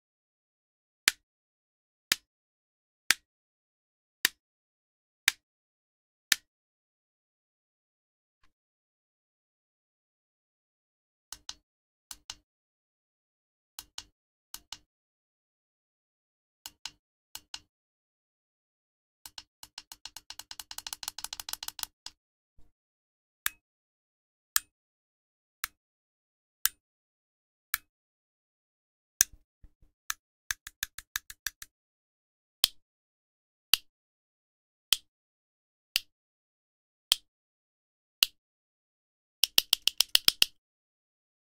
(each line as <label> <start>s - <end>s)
switches being flicked and pressed 39.4s - 40.5s